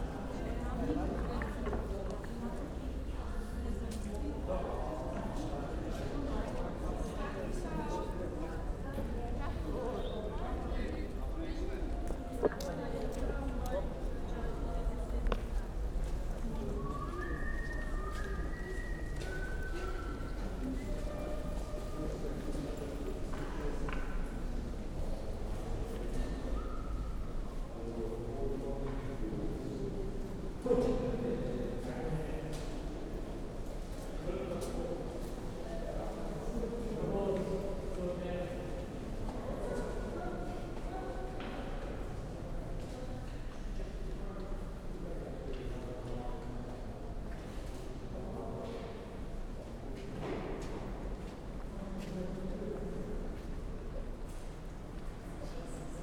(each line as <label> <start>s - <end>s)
walk 10.3s - 24.4s
walk 49.5s - 55.8s